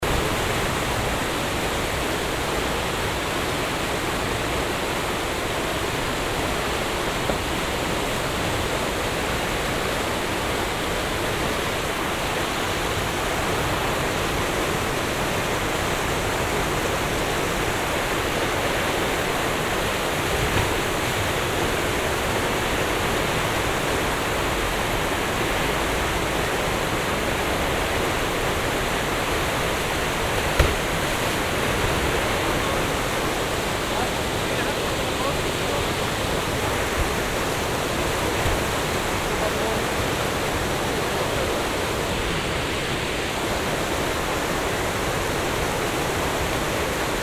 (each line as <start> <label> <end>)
0.1 canou drivers on the river 47.2